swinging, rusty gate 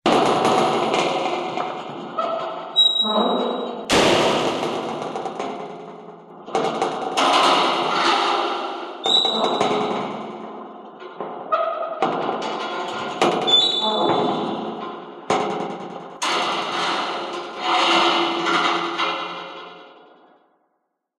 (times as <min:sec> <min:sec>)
0:00.8 0:03.9, 0:11.1 0:15.1, 0:16.2 0:20.2